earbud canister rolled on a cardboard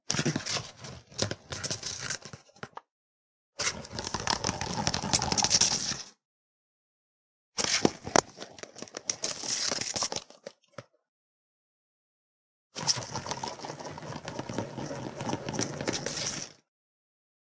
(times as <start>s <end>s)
13.7s 16.4s